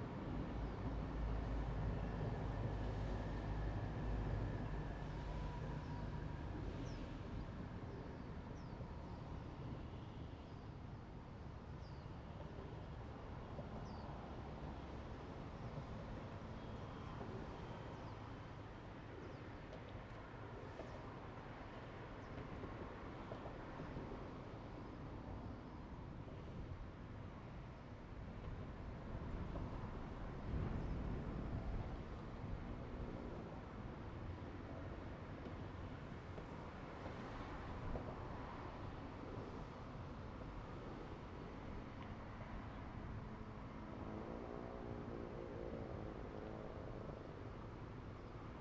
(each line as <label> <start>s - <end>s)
wind 0.0s - 48.6s
The train runs through 19.7s - 43.8s